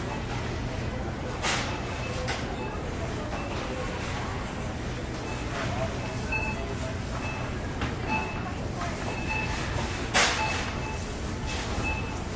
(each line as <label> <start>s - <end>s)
cashiers 0.0s - 12.3s
cash registers 5.2s - 12.3s